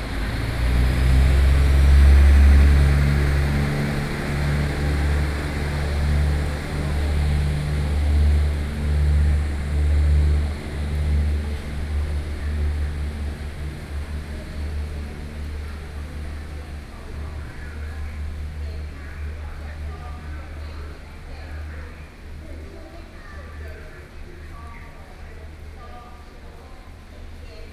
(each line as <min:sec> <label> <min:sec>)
0:00.0 Train traveling through 0:17.9
0:00.0 Trains arrive at the station 0:27.7